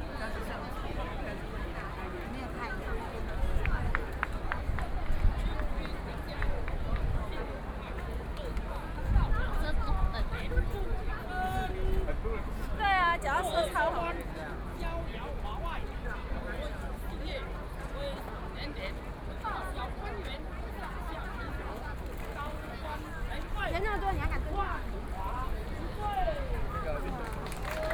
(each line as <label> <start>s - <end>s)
People cheering 26.0s - 27.9s